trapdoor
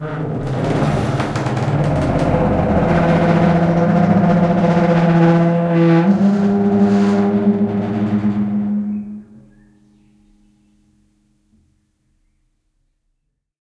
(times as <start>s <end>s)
0.0s 9.7s